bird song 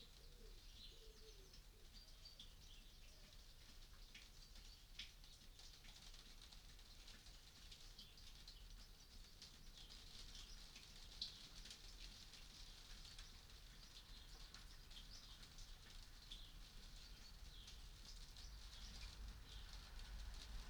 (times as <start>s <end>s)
0.0s 5.0s, 12.6s 20.2s